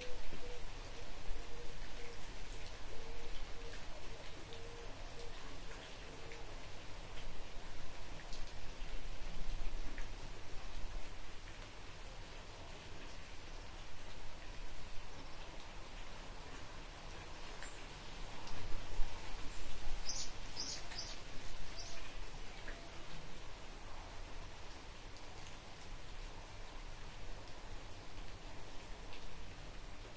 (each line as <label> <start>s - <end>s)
rain 0.0s - 30.1s
birds 20.0s - 22.9s